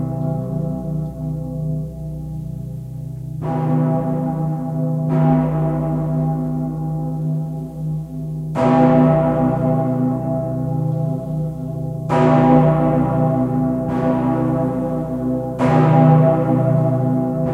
0.0s largest bell of kolner dom 17.5s

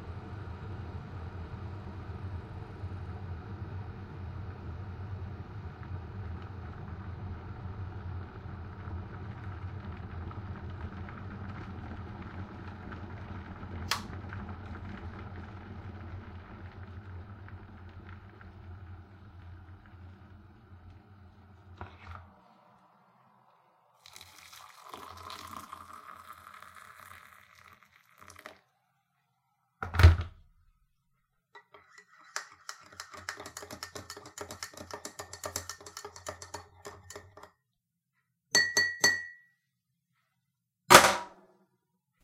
0.0s boiled water in a kettle 29.0s
5.7s pour water 28.8s
24.0s stir water in cup 28.6s
31.5s boiled water in a kettle 37.6s
31.6s stir water in cup 37.5s

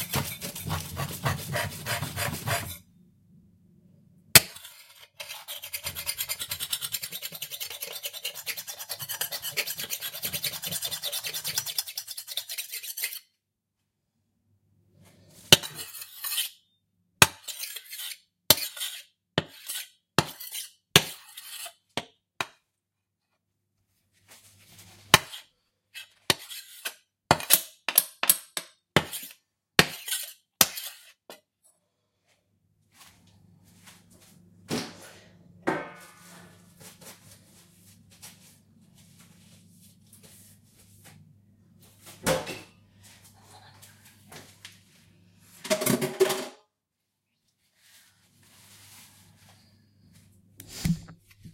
0.0s Scraping clean a ceramic hob with a metal utensil 2.8s
4.5s Scraping clean a ceramic hob with a metal utensil 13.3s
15.4s Scraping clean a ceramic hob with a metal utensil 16.6s
17.4s Scraping clean a ceramic hob with a metal utensil 21.8s

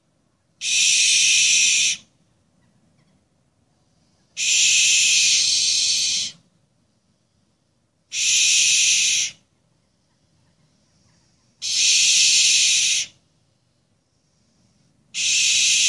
0.6s Owls hissing 2.1s
3.9s Owls hissing 6.4s
8.1s Owls hissing 13.2s
14.2s Owls hissing 15.8s

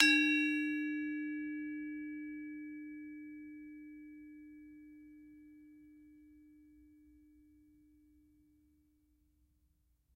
0.0s gamelan 2.0s

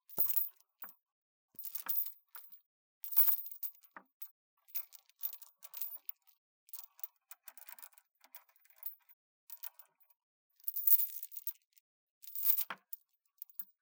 0.1s Chains being moved slightly, creating a weak tinkling 0.9s
1.6s Chains being moved slightly, creating a weak tinkling 3.9s
4.6s Chains being moved slightly, creating a weak tinkling 9.9s
10.6s Chains being moved slightly, creating a weak tinkling 12.8s
13.4s Chains being moved slightly, creating a weak tinkling 13.8s

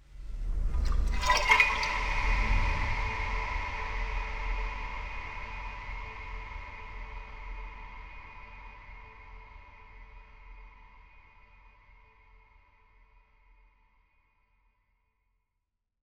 0.8s sloshing water 2.3s

